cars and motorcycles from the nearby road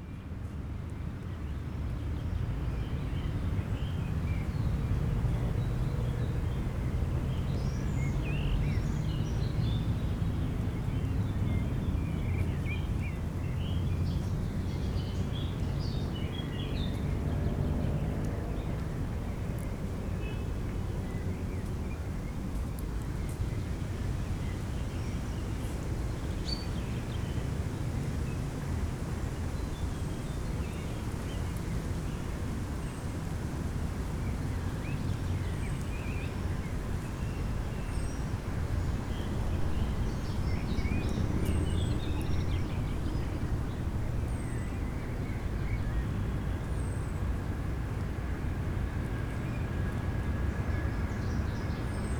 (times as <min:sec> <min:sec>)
0:12.8 0:22.5, 0:26.7 0:52.1